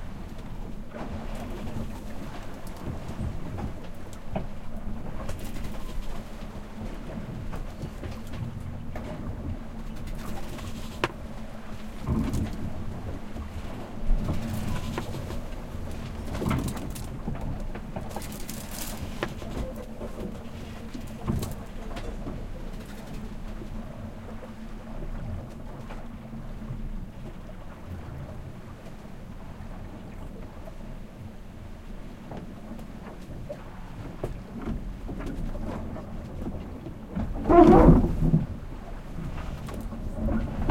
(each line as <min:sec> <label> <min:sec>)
0:00.0 boat 0:40.7
0:00.0 ocean 0:40.7